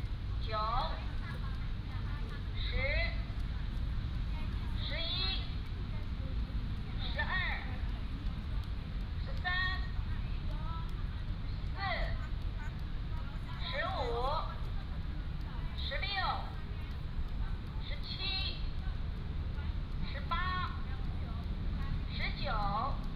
elderly people are doing aerobics 0:00.0 - 0:23.1

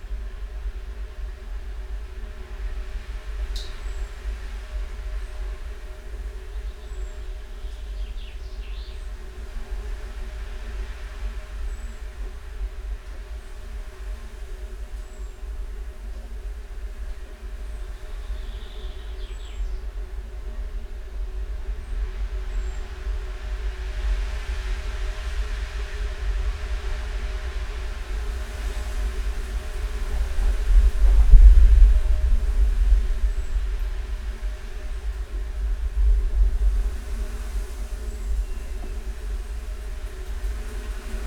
song thrush 0:06.5 - 0:09.2
song thrush 0:17.9 - 0:19.9
windblast 0:27.5 - 0:41.2

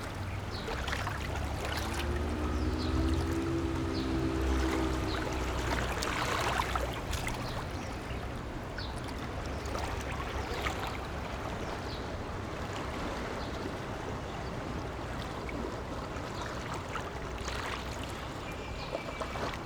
Traffic Sound 0:00.0 - 0:08.3
Water sound 0:00.0 - 0:08.6

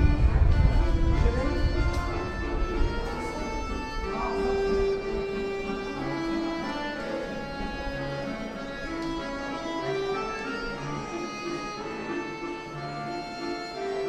The subway arrives and departs 0:00.0 - 0:09.4
People walk the stairs up and down 0:00.0 - 0:14.0
accordion player 0:00.0 - 0:14.0
group of young people who talks loudly 0:00.0 - 0:14.0

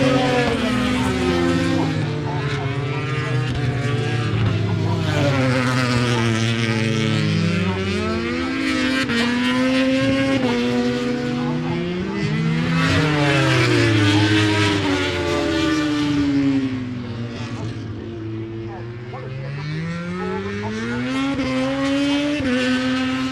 motorcycle grand prix 0:00.0 - 0:23.3

